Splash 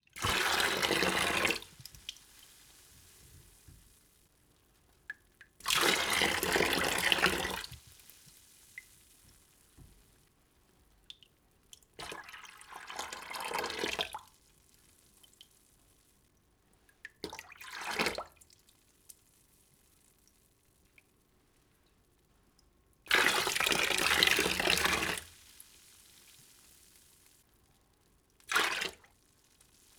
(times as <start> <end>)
0.2 3.6, 28.4 29.9